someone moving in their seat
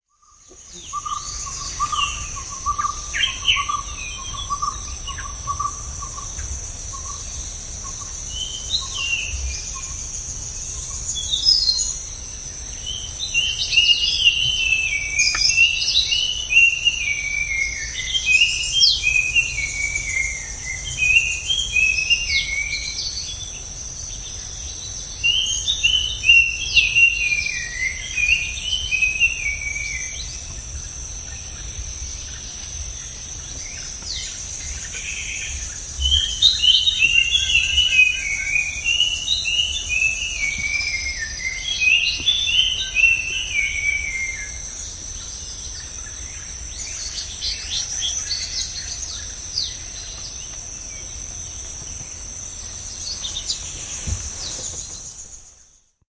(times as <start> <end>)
53.0 55.5